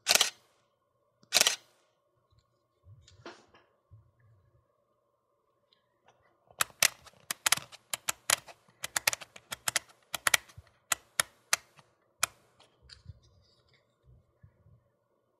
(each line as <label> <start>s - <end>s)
DSLR long/short exposure shutter sound 0.0s - 0.4s
DSLR Shutter Dials 0.0s - 0.4s
DSLR Shutter Dials 1.3s - 1.7s
DSLR long/short exposure shutter sound 1.3s - 1.7s
DSLR Shutter Dials 6.6s - 12.4s